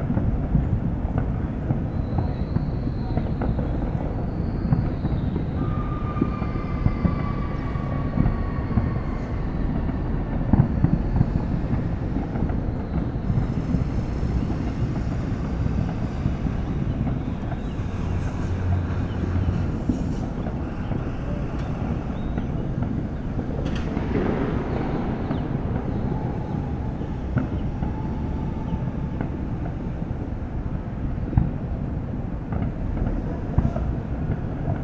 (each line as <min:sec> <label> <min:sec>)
0:00.0 fireworks 0:34.8
0:04.4 screaming 0:12.1
0:13.0 screaming 0:30.0